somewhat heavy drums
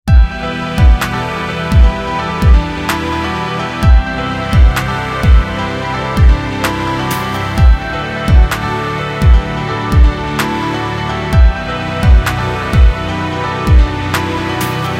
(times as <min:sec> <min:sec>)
0:00.1 0:02.8